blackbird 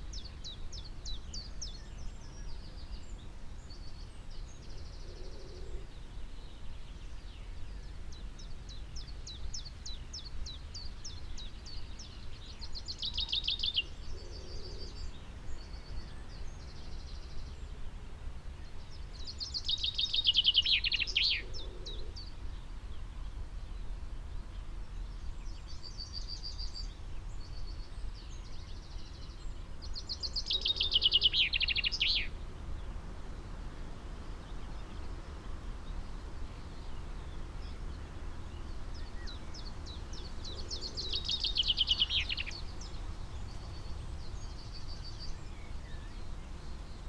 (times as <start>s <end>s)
37.7s 46.3s